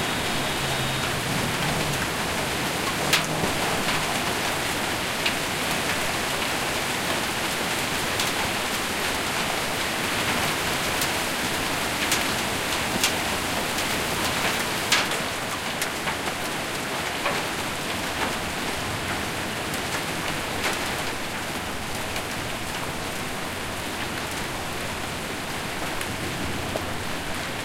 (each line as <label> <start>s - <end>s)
Light rain 0.0s - 27.6s
light hail 0.1s - 27.6s